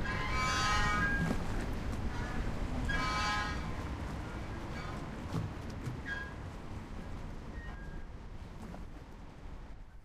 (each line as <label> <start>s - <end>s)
Moored Boat Metal Grinding, Groaning & Creaking 0.0s - 1.5s
Moored Boat Metal Grinding, Groaning & Creaking 2.1s - 3.8s